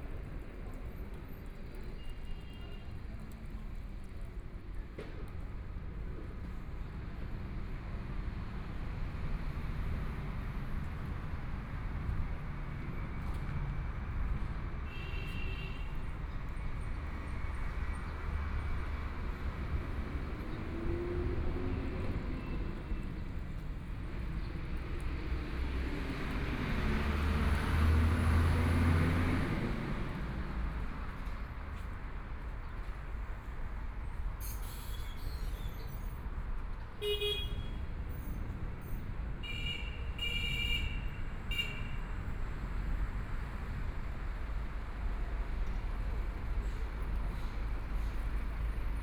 Traffic Sound 0:00.0 - 0:49.0
Walking on the street 0:00.0 - 0:49.0

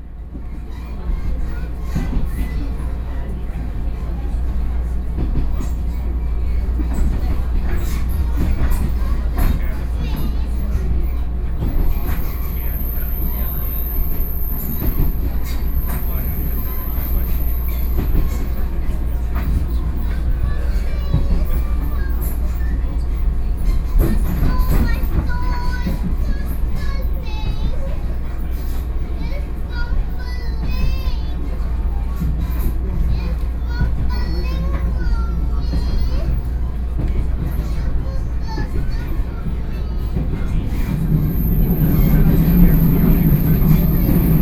On the train 0:00.0 - 0:44.4

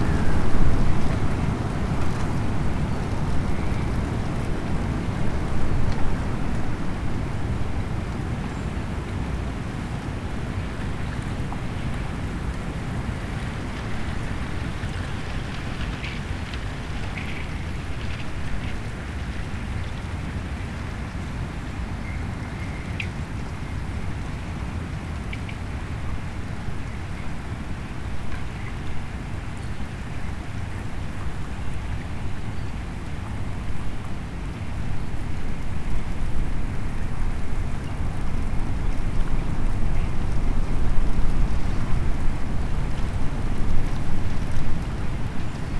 strong wind blows small pieces of ice over the ice 0:00.0 - 0:45.7

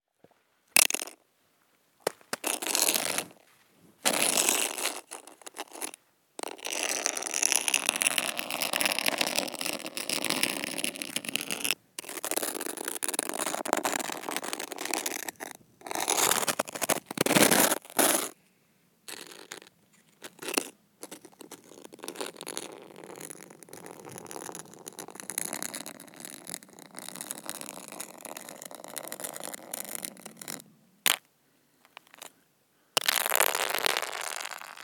Scraping frozen ice 0:02.4 - 0:03.4
Scraping frozen ice 0:04.0 - 0:18.4
Scraping frozen ice 0:19.1 - 0:31.2

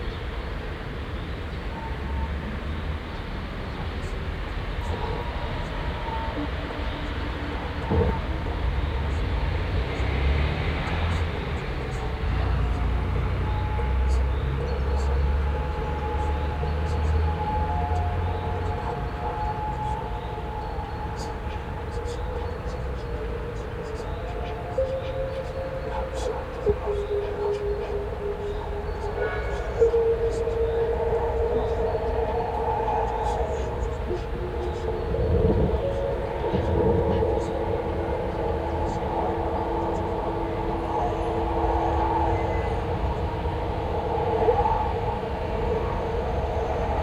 strett traffic 0:14.5 - 0:47.0

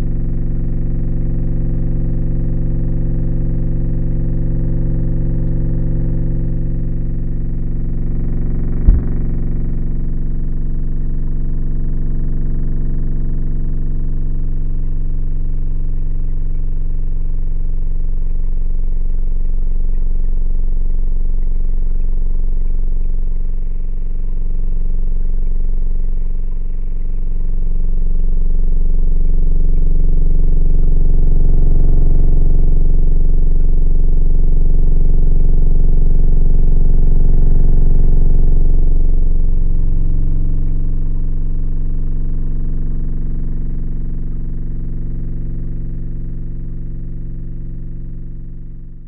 metal is vibrating all the time 0:07.9 - 0:09.8
motor which is moving the floodgate 0:08.9 - 0:09.2

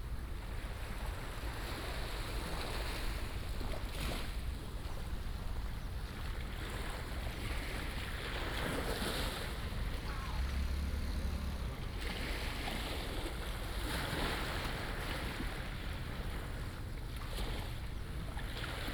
waves 0:00.0 - 0:18.9

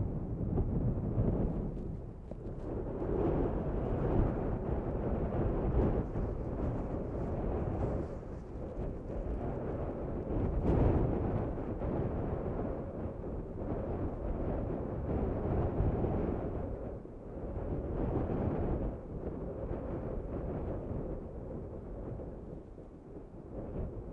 storm log 0:00.0 - 0:16.0

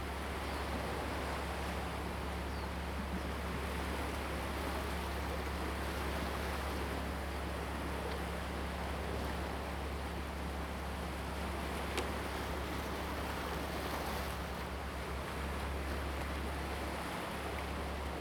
Waves 0:00.0 - 0:18.2

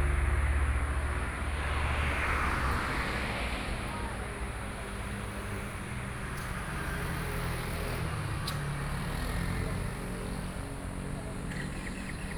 Selling vegetables on the roadside 0:00.0 - 0:12.3

